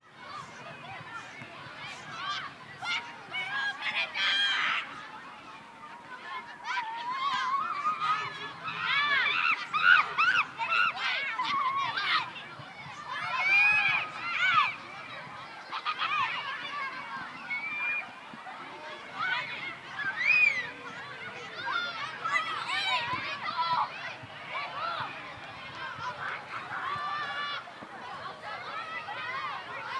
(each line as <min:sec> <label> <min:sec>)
0:00.0 children 0:29.9